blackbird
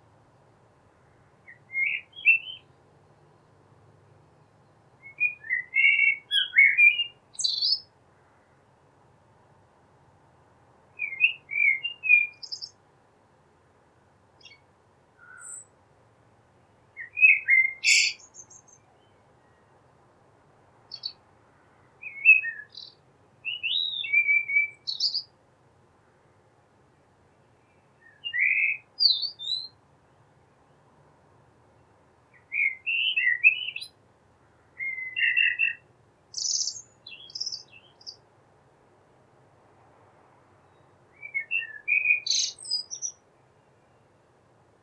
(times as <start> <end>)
1.0 3.6, 4.4 8.6, 11.0 12.8, 14.4 14.6, 15.2 15.8, 17.0 19.7, 20.9 21.2, 22.0 25.3, 27.7 29.8, 32.3 34.0, 34.7 38.2, 40.6 43.2